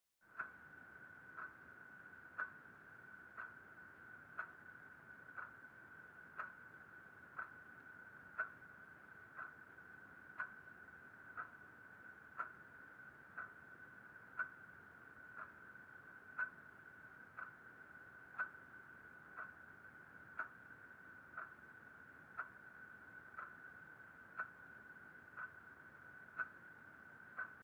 ticking clock 0.2 - 27.6

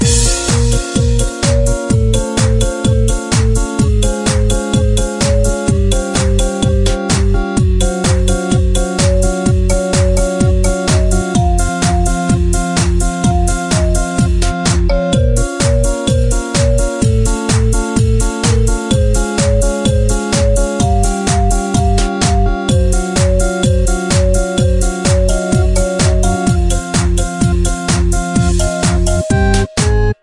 music loop 0.0 - 30.2

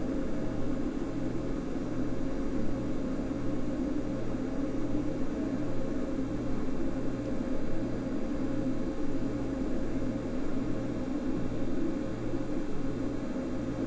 Fluoresent Light Hum 0.0 - 13.8
office refrigerator 0.0 - 13.8

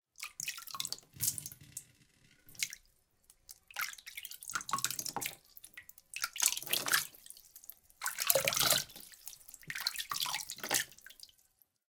water scoop drip with hand 2.5 - 11.4

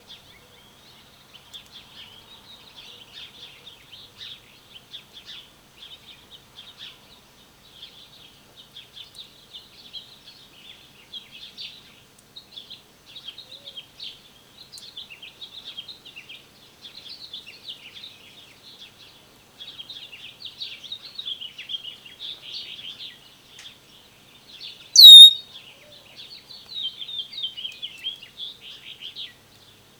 blackbird 25.0 - 25.4
chirping 25.0 - 25.4
doves 25.0 - 25.4

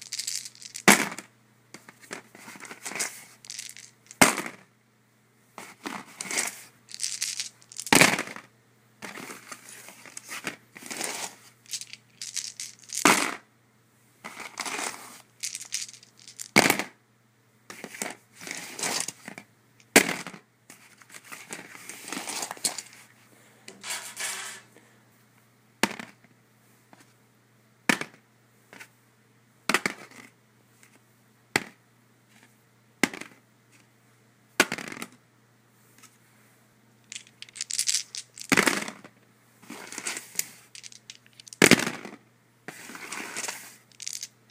various dice rolling on a cardboard surface 0.0 - 4.7
various dice rolling on a cardboard surface 5.6 - 13.4
various dice rolling on a cardboard surface 14.2 - 17.0
various dice rolling on a cardboard surface 17.7 - 23.1
various dice rolling on a cardboard surface 25.8 - 26.2
various dice rolling on a cardboard surface 29.7 - 31.0
various dice rolling on a cardboard surface 31.6 - 33.4
various dice rolling on a cardboard surface 34.6 - 35.2
various dice rolling on a cardboard surface 37.1 - 44.5

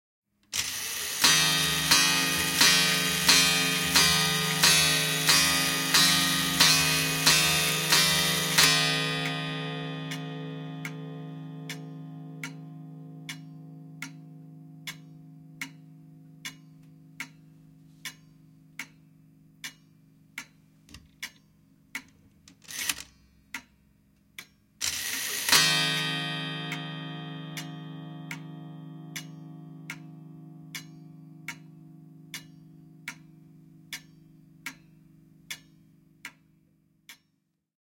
Old clock from the 1800s on the wall strikes 12 0.6 - 21.4
Old clock from the 1800s on the wall strikes 12 24.8 - 37.3

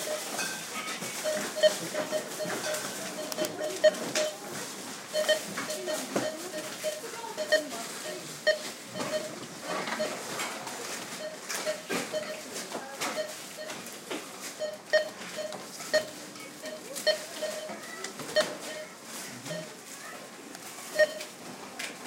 Beeps from several barcode readers 0.0 - 4.5
Voices 0.0 - 22.0
Beeps from several barcode readers 5.1 - 10.3
Beeps from several barcode readers 11.0 - 19.8
Beeps from several barcode readers 20.9 - 21.4

